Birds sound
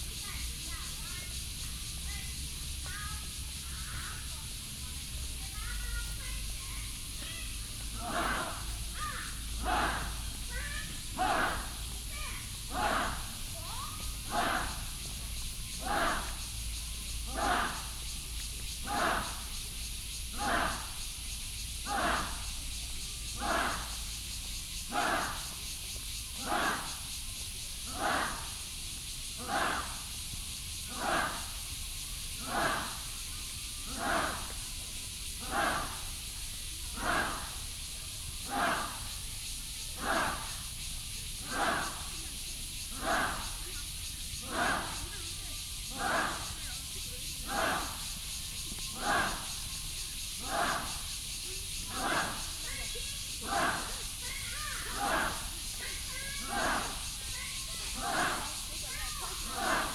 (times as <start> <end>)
0.2 42.2